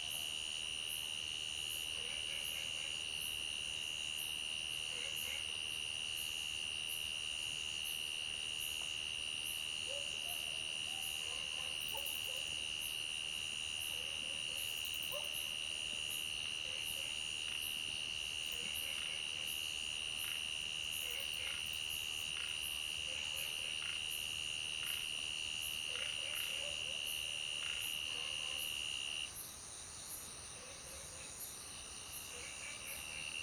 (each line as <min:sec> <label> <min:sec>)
0:00.0 insects 0:33.4